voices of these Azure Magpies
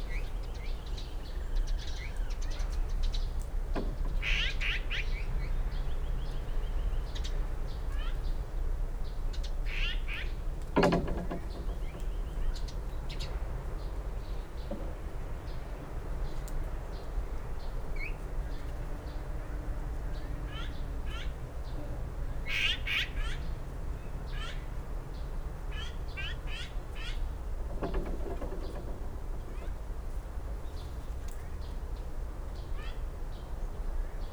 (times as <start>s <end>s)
12.1s 28.8s